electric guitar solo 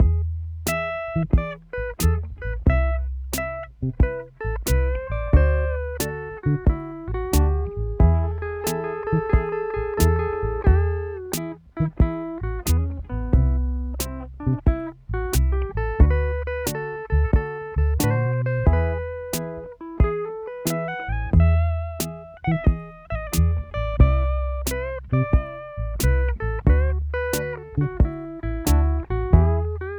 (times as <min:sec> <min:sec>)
0:08.4 0:11.3